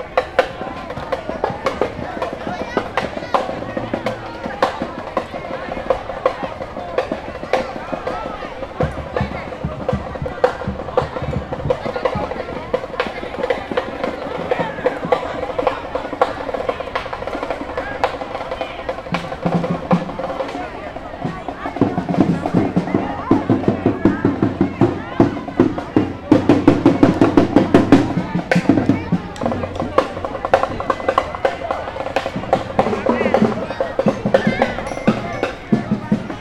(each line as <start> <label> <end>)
0.0 drums of high school students 36.4